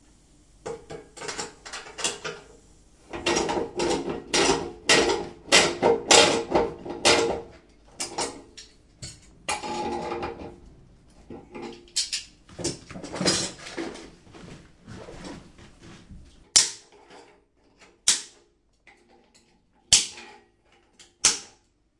Plumber replacing the gas meter 0.6 - 10.6
Plumber replacing the gas meter 11.2 - 14.3

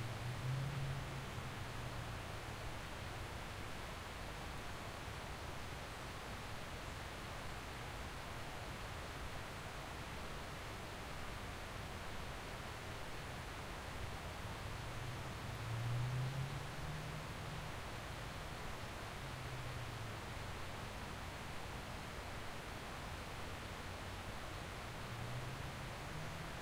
cars 0.0 - 4.4
stream flowing to the side 0.0 - 26.6
cars 12.7 - 26.6

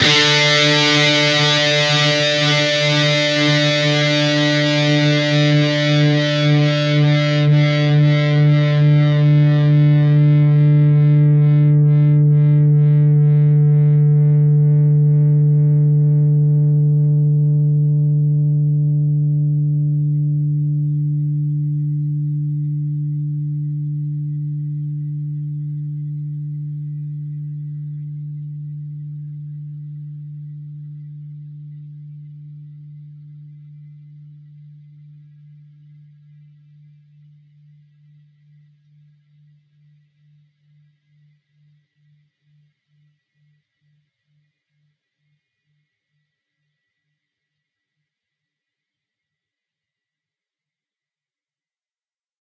distorted guitar 0.0 - 37.3

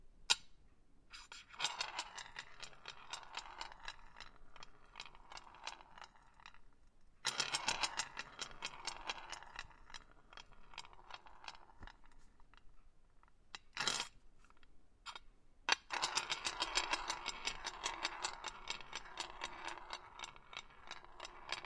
chess pawn rolling over a glass table 1.4 - 6.6
chess pawn rolling over a glass table 7.2 - 12.7
chess pawn rolling over a glass table 13.6 - 14.1
chess pawn rolling over a glass table 15.7 - 21.6

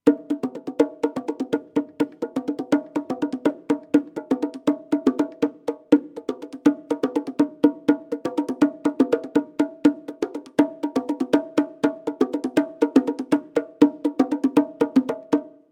bongo 0.0 - 15.7

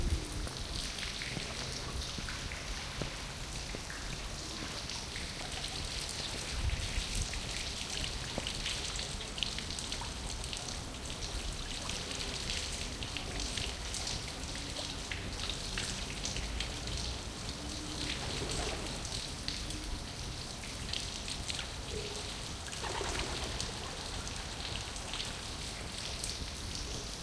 fountain 0.0 - 27.2
pigeons 22.0 - 24.0

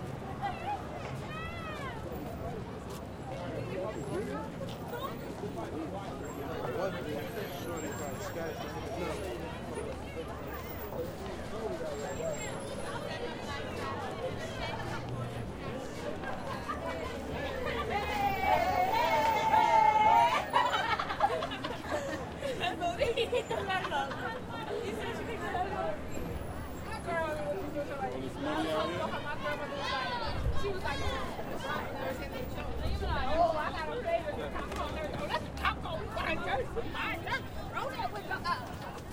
crowd 0.0 - 39.1
traffic 0.0 - 39.1
walk 0.0 - 6.2
walk 13.7 - 23.3

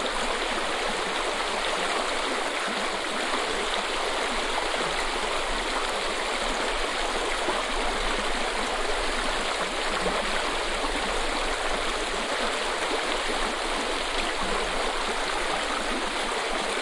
Mountainstream 0.0 - 16.8

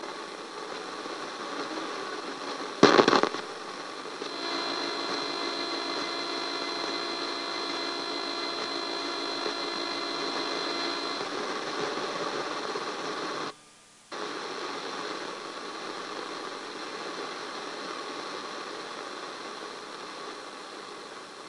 static 0.0 - 21.4

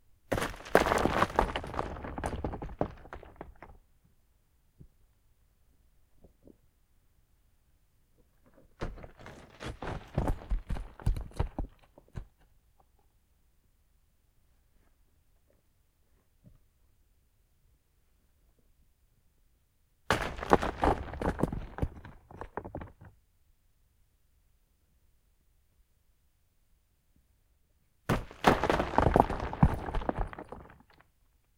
Small boulders crashing and rolling down a short slope 0.2 - 4.0
Small boulders crashing and rolling down a short slope 8.3 - 12.6
Small boulders crashing and rolling down a short slope 20.1 - 23.2
Small boulders crashing and rolling down a short slope 28.0 - 31.2

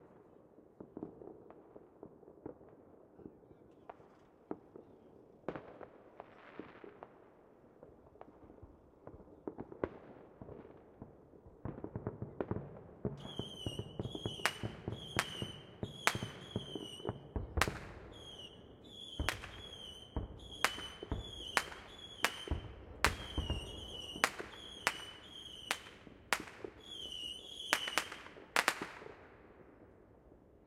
smallish fireworks 0.0 - 30.6

